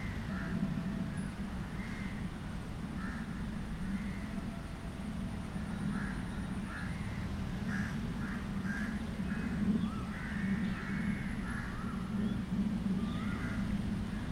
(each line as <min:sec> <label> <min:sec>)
0:00.0 birds 0:14.3
0:00.0 cars 0:14.3
0:00.0 wind 0:14.3